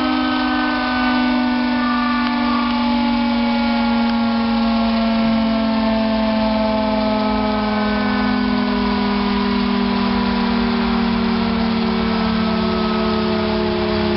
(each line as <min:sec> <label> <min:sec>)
0:00.0 air-raid siren 0:14.1